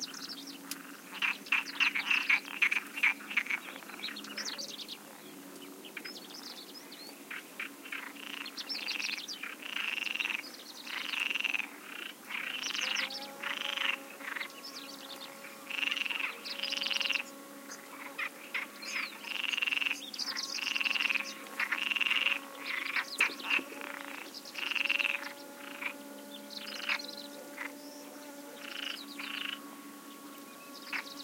birds 0.0 - 31.2
frog croaks 7.9 - 14.5
frog croaks 15.7 - 17.2
frog croaks 17.9 - 26.0
frog croaks 26.6 - 27.7
frog croaks 28.6 - 29.6

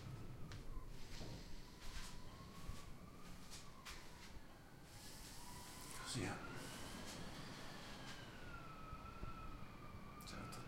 hiss 4.9 - 8.1

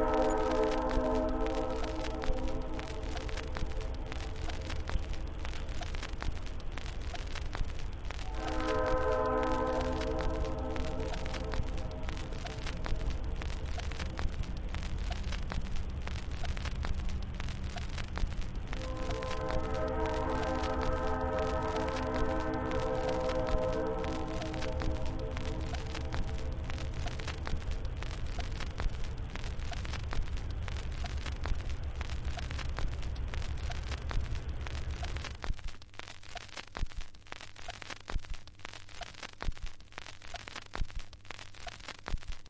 passing train 18.8 - 25.3

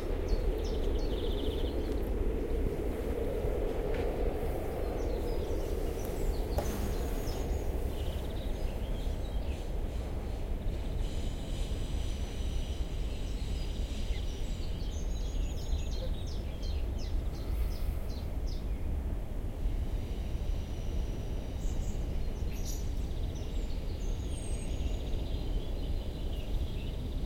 birds keep singing 0.0 - 2.9
airplane passes 0.0 - 12.4
freighttrain passes 0.0 - 15.7
traffic 0.0 - 21.6
local train on the railway 0.0 - 27.2
birds keep singing 4.6 - 18.9

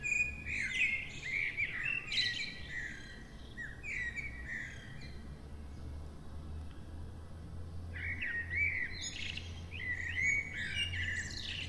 blackbirds 0.0 - 11.6
other traffic sounds 2.6 - 11.6

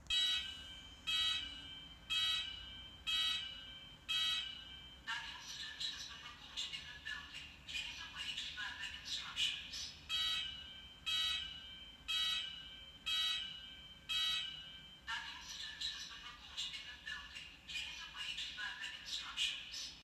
Fire alarm 0.0 - 6.8
Fire alarm 10.0 - 16.8

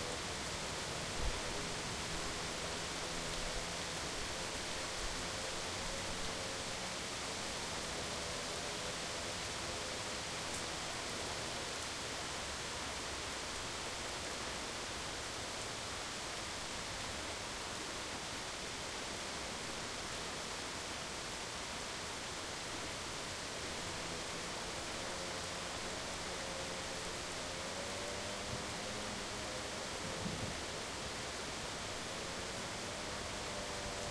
Rain 0.0 - 34.1

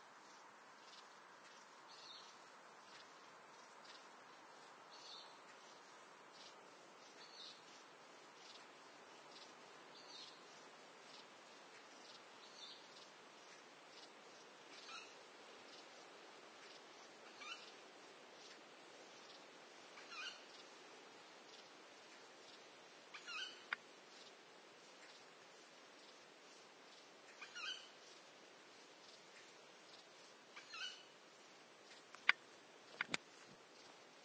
Barn Owl calling 17.3 - 17.7
Barn Owl calling 20.0 - 20.4
Barn Owl calling 23.1 - 23.8
Barn Owl calling 27.4 - 27.9
Barn Owl calling 30.6 - 31.1

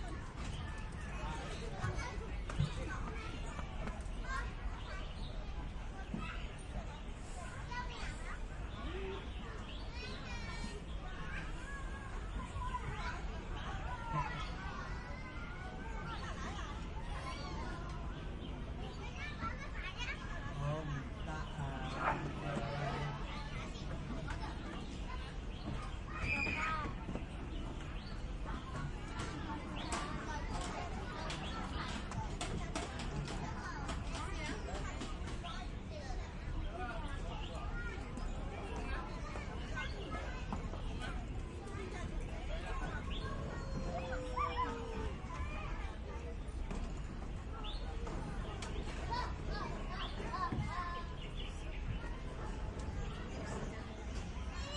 adults talking 0.0 - 54.7
children playing and shouting 0.0 - 54.7
distant sounds coming from the city and the streets 0.0 - 54.7
birds in the trees 0.0 - 54.7

